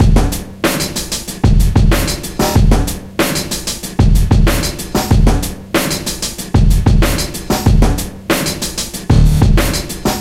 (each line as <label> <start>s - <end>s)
breakbeat 0.0s - 10.2s